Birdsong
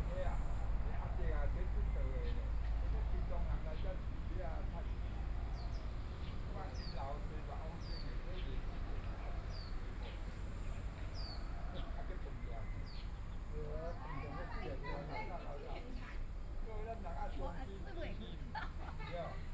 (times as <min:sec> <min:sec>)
0:00.0 0:15.5